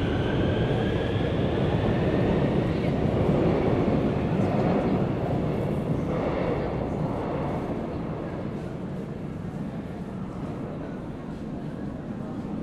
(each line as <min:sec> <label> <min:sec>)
0:00.0 Subway 0:12.6